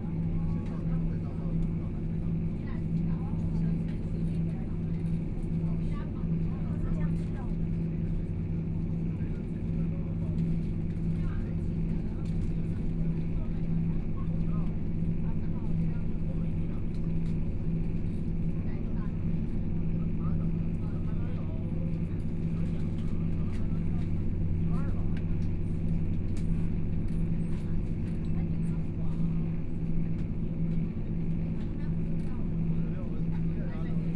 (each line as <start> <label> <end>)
0.0 Noise inside the train 34.1
0.0 Dialogue between tourists 34.1